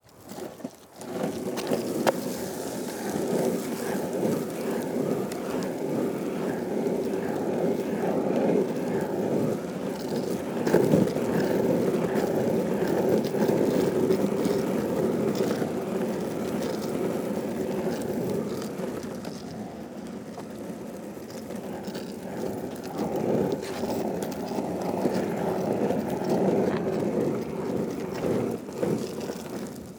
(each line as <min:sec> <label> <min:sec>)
0:00.0 skate board rolling 0:29.9